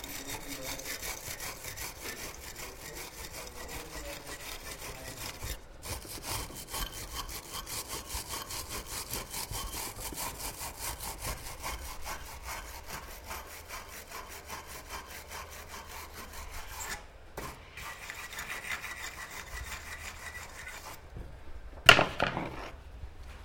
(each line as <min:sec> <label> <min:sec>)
0:00.0 Steel Brush on Aluminium Tube 0:21.0
0:21.9 brush is dropped on the workbench 0:22.7